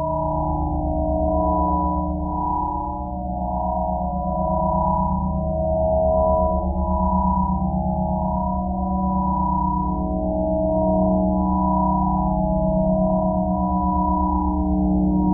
0.0s pure ambient sine wave 15.3s

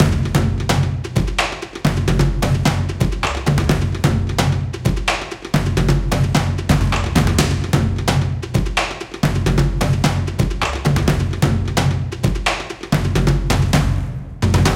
0.0s percussion 14.7s

